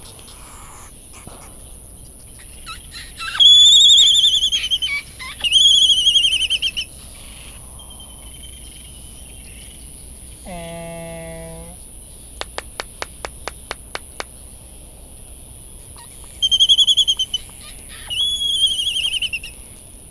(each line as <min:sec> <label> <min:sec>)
0:00.0 laysan calls and bill clapperings 0:07.8
0:00.0 background noise from generators 0:20.1
0:02.4 white tern calls 0:07.6
0:02.4 bonin calls and flight calls 0:08.6
0:08.6 laysan calls and bill clapperings 0:14.7
0:15.8 laysan calls and bill clapperings 0:19.7
0:16.0 bonin calls and flight calls 0:19.6
0:16.0 white tern calls 0:19.5